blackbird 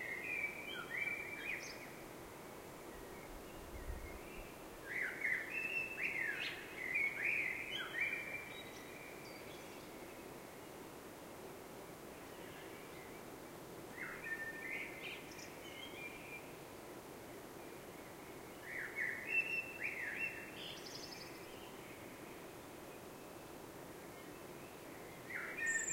24.7 25.9

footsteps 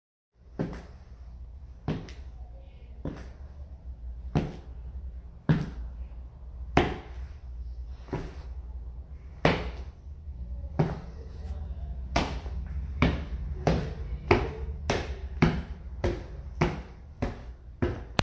6.7 10.0

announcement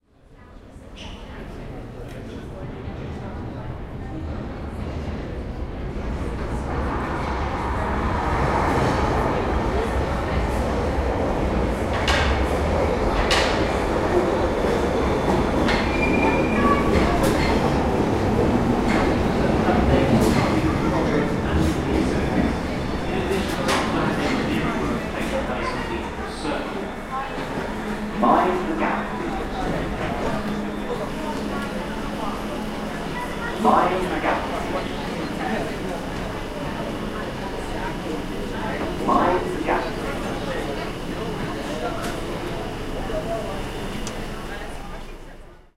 13.8 45.4

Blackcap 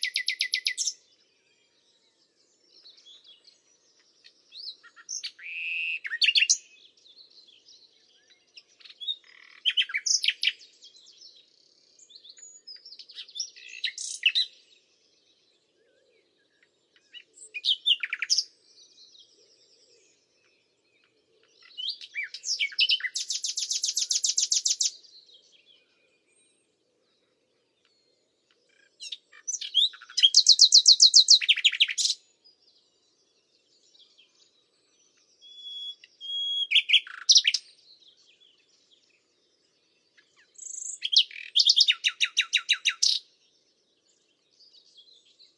0.0 1.0, 2.8 6.7, 7.4 11.3, 16.6 18.5, 21.0 25.6, 28.8 32.3, 33.8 39.1, 40.1 43.3

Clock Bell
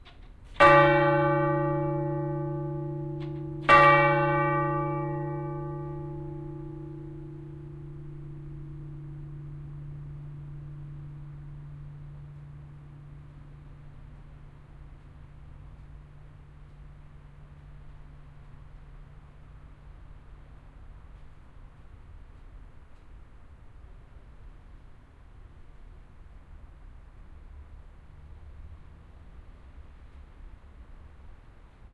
0.6 12.7

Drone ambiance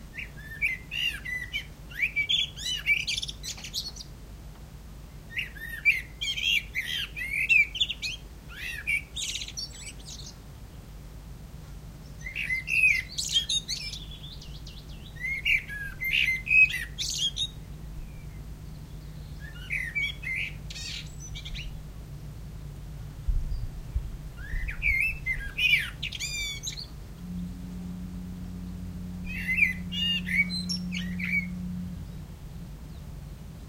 10.9 33.6

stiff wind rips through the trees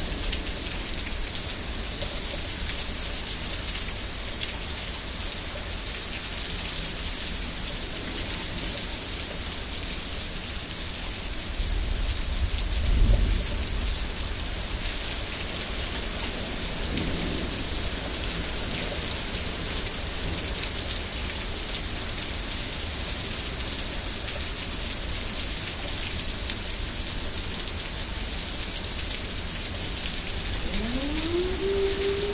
30.2 32.3

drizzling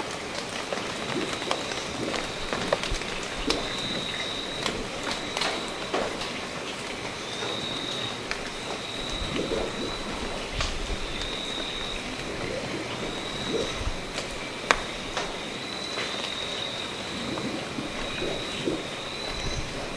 8.3 15.8, 16.8 19.9

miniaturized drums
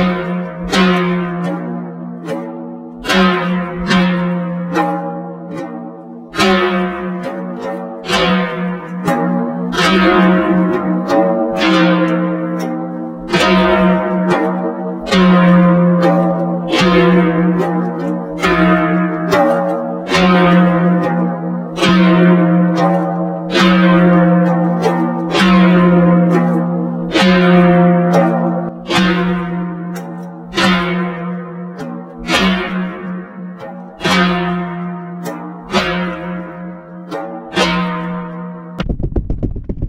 38.8 39.8

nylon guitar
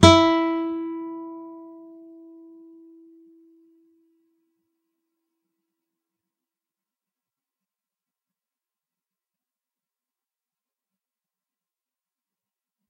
0.0 3.7

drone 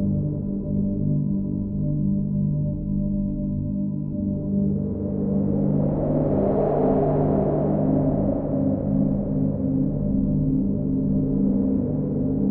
3.9 12.5

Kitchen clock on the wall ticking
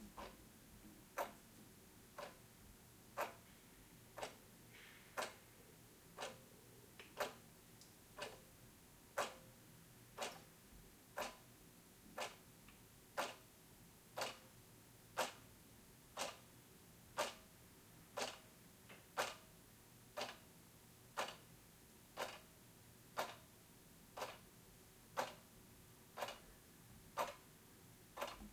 0.1 0.4, 1.2 1.4, 2.2 2.4, 3.2 3.4, 4.1 4.4, 5.1 5.5, 6.2 6.5, 7.2 7.4, 8.1 8.5, 9.1 9.5, 10.2 10.5, 11.2 11.5, 12.2 12.4, 13.2 13.4, 14.2 14.5, 15.2 15.4, 16.2 16.4, 17.2 17.5, 18.2 18.5, 19.1 19.5, 20.2 20.5, 21.2 21.5, 22.2 22.5, 23.2 23.5, 24.2 24.5, 25.2 25.5, 26.2 26.5, 27.2 27.4, 28.2 28.5

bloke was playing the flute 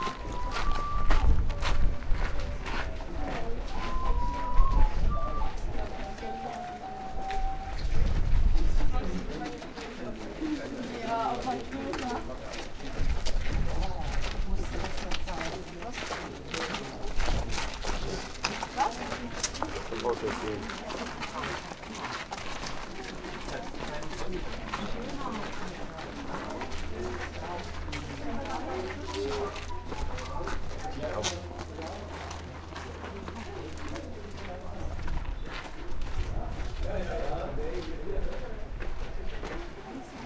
0.0 2.6, 3.6 8.4, 29.1 30.3

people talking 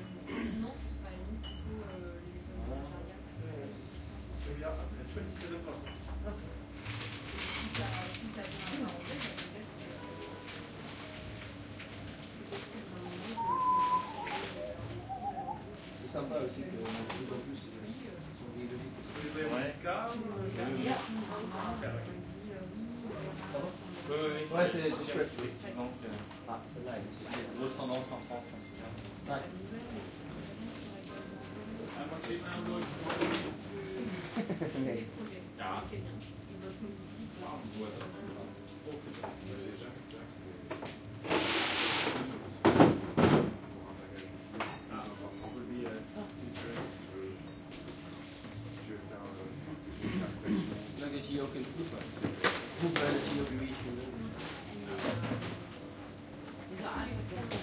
7.7 10.4, 12.4 17.3

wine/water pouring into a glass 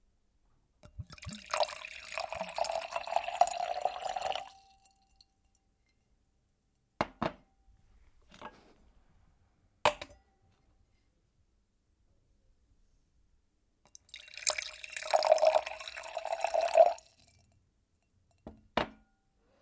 0.8 5.3, 13.9 17.4

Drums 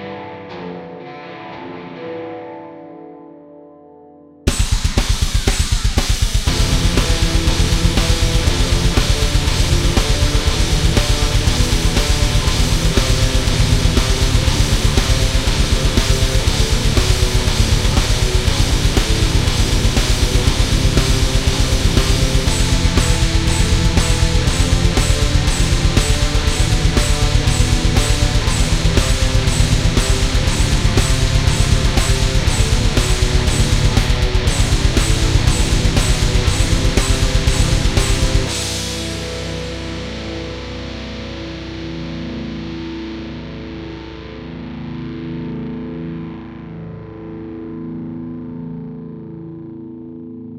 4.5 40.7

